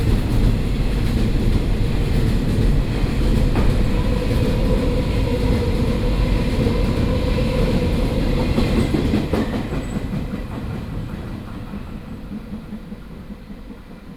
Train travel through 0.0 - 14.1

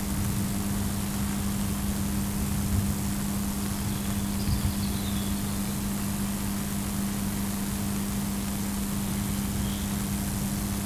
birds' singing 3.8 - 6.2
birds' singing 9.1 - 10.2

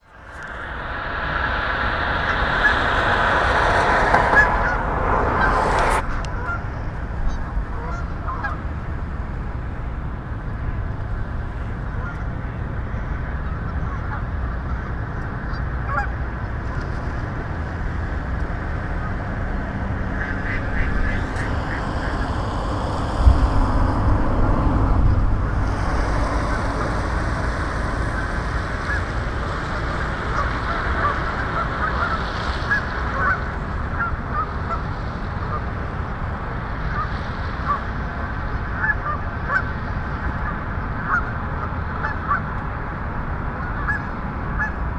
ducks at the bank of the pond making unique communicative sounds 25.6 - 35.7
ducks at the bank of the pond making unique communicative sounds 36.8 - 42.5
ducks at the bank of the pond making unique communicative sounds 43.6 - 44.8

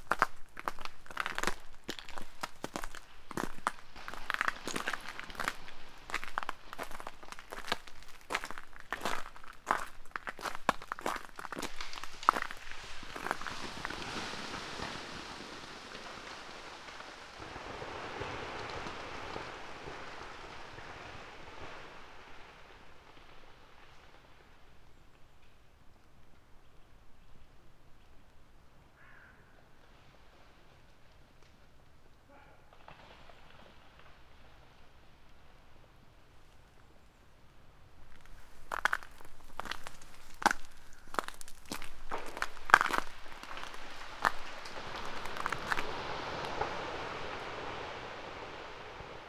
frozen rain 0.0 - 24.8
trees are breaking all over 0.0 - 24.9
trees are breaking all over 32.7 - 36.2
frozen rain 37.9 - 49.2
trees are breaking all over 37.9 - 49.2

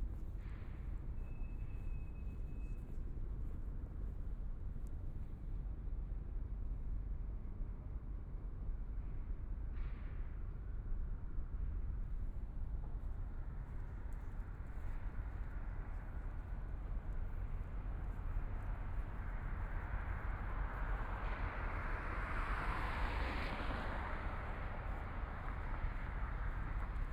Traffic Sound 12.5 - 27.1

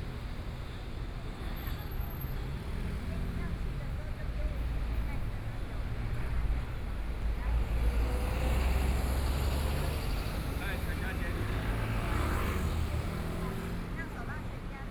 Traffic Sound 4.4 - 14.5

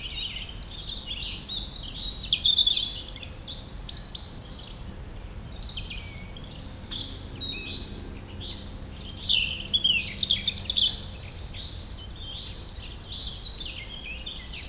distant calls from the birds 0.0 - 14.6

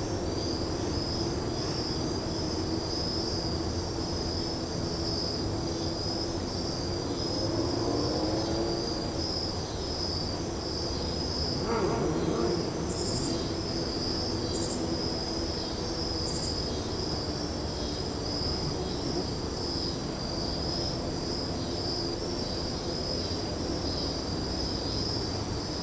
auto racing in a parking lot 5.9 - 14.8

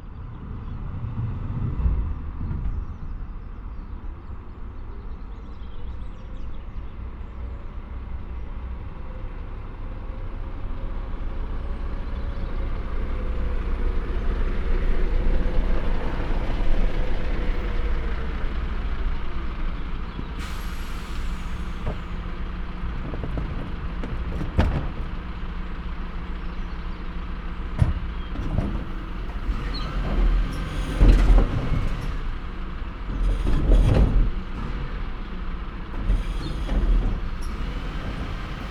garden rubbish is collected by a special truck 3.0 - 38.7

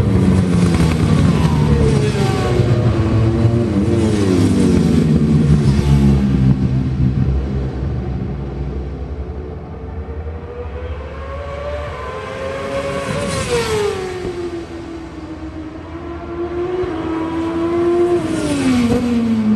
Superbikes 0.0 - 19.5

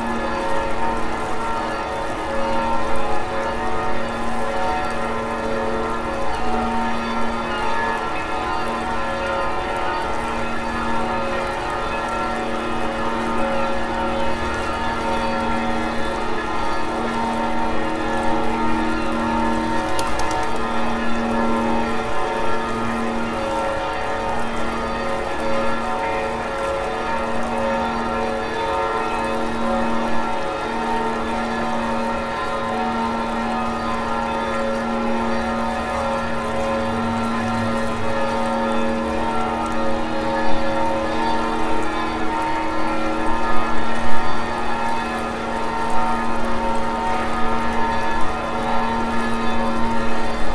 noon bells 0.0 - 50.5

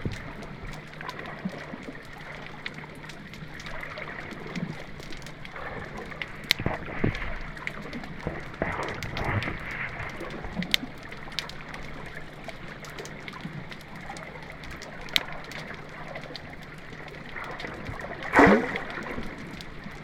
Water 0.0 - 20.0

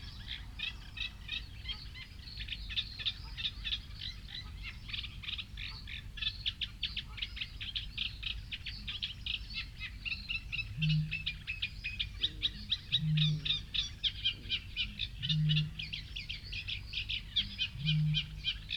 pheasant 0.0 - 18.7
coot 12.2 - 16.1
coot 17.4 - 18.7

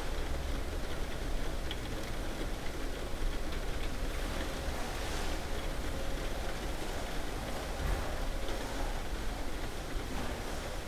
Rain on skylight 0.0 - 10.8

